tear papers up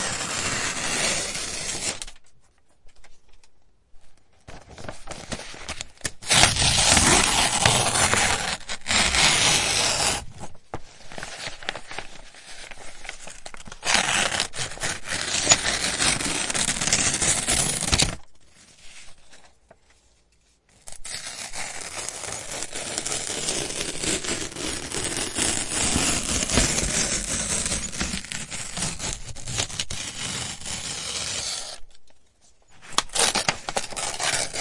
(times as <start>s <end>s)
4.8s 18.3s, 20.8s 31.8s, 32.8s 34.6s